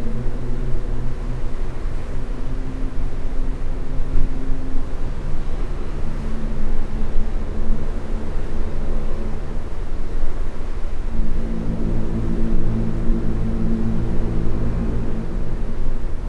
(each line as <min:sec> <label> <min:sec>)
0:00.0 Ships whistle 0:16.2
0:00.0 The Atlantic passing at 24 knots 0:16.2